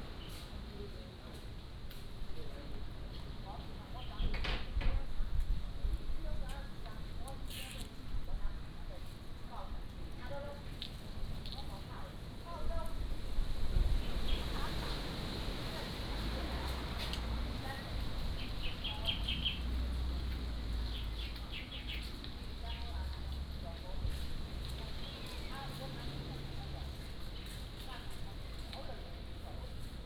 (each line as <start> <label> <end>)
0.0 Wind 30.0
14.0 Traffic Sound 29.7